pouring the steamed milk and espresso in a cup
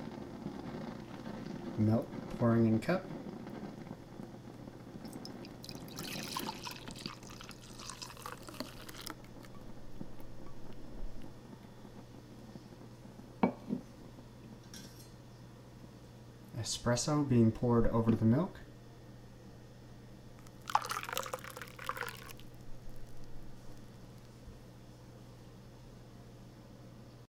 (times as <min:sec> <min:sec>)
0:05.0 0:11.3, 0:20.4 0:23.9